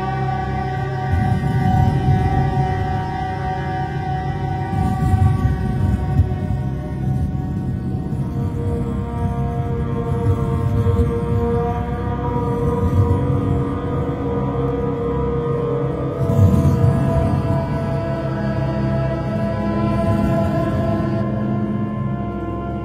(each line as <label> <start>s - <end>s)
Drone 0.0s - 22.8s